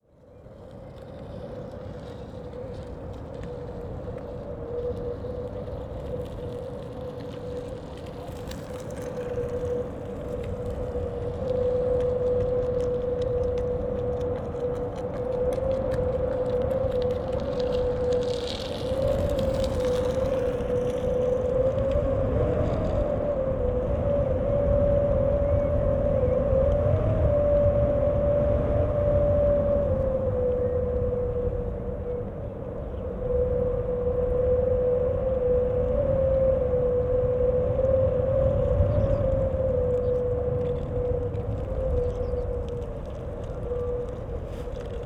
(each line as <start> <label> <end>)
0.3 people passing by 26.9
1.5 wind sings in the metal fence 45.0